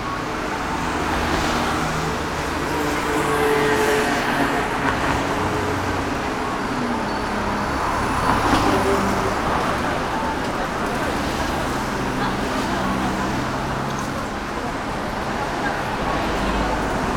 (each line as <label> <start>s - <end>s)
pedestrian crossing 0.0s - 17.1s